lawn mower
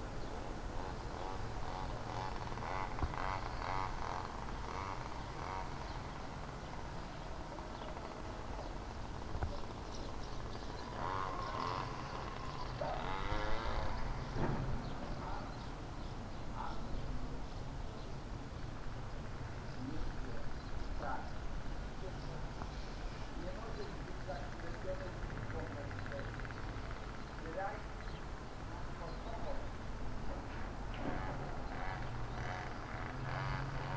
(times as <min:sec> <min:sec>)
0:00.0 0:14.4, 0:29.7 0:33.9